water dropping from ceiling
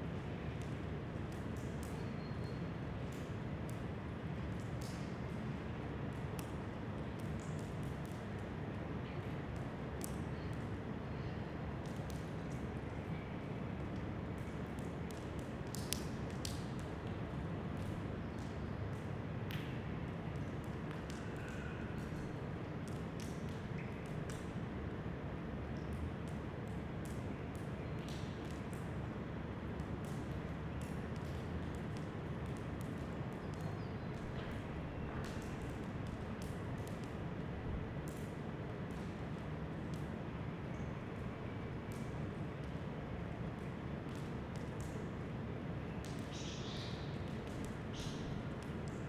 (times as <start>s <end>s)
14.7s 17.2s, 29.8s 40.1s, 46.0s 46.3s